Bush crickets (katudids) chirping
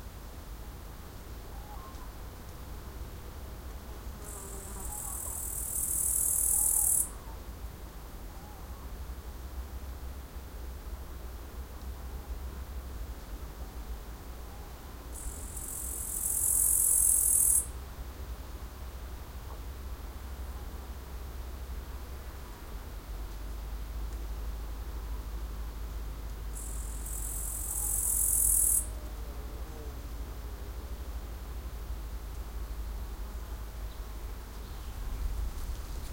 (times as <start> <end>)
4.2 7.3, 15.1 17.8, 26.5 30.0